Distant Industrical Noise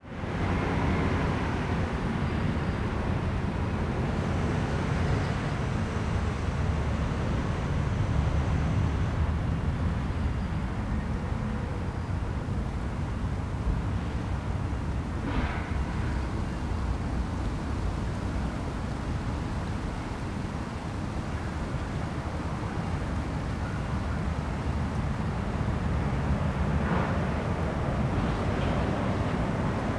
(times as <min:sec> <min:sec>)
0:14.2 0:29.9